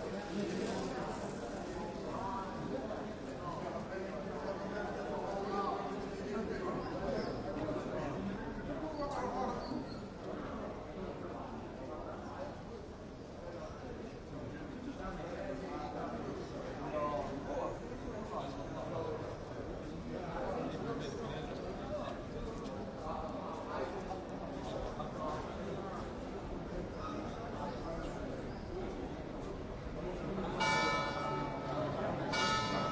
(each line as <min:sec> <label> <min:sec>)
0:00.0 groups of tourists walking 0:32.9
0:30.5 church bells 0:32.9